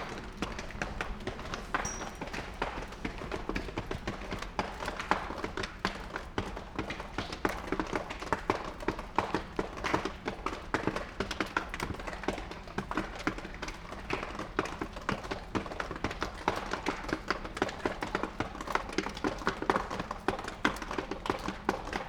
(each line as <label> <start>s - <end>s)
rain drops falling on a plastic cover 0.0s - 22.0s